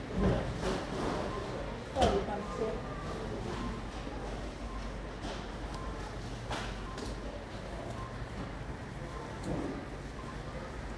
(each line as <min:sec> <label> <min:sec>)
0:00.0 scanned goods at the cash register 0:10.9